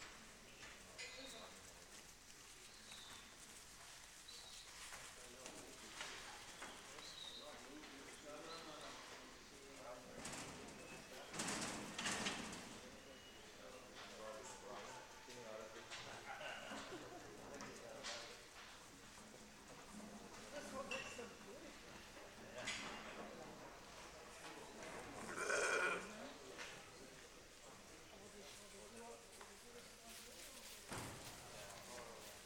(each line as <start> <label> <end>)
0.0 Quiet rams in the auction ring 32.4